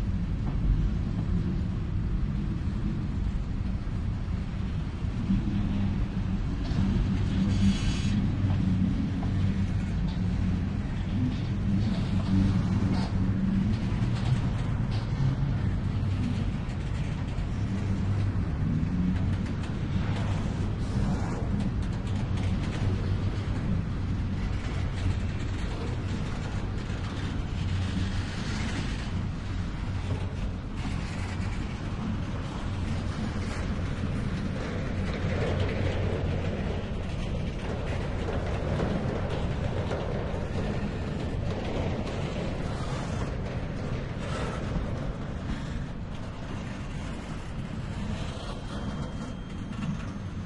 slow train 0:00.0 - 0:50.4

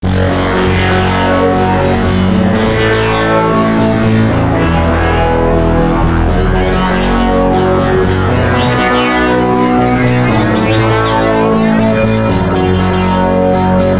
Arpeggio 0:07.9 - 0:13.3

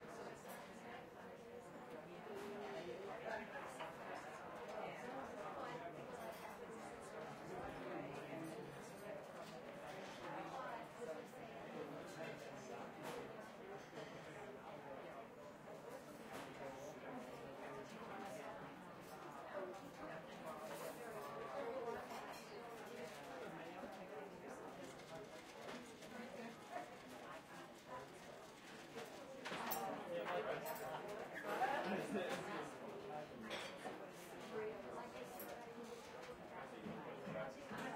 chatter 0:15.9 - 0:34.0

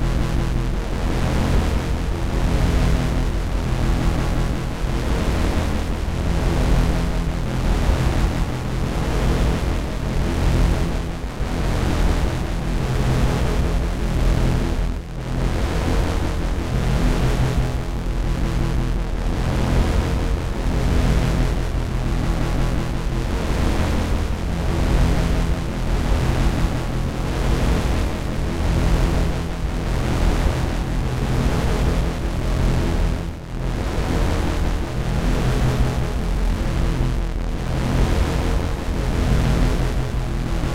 bass drone 0:00.0 - 0:40.7

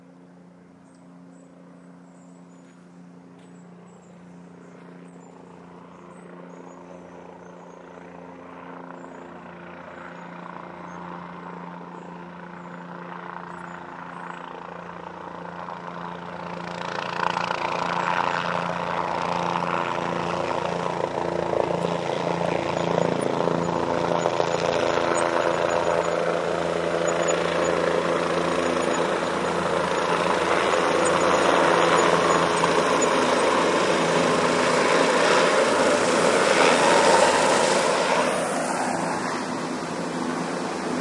helicopter approaching 0:00.0 - 0:41.0

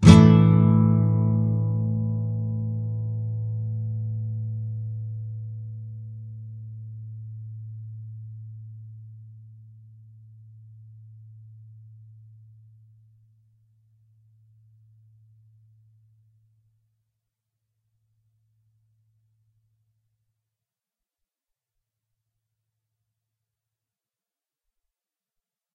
nylon guitar 0:00.0 - 0:09.7

